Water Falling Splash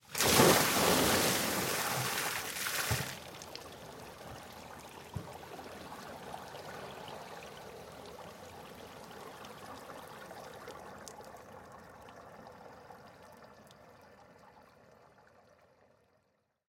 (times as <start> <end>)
0.0 3.6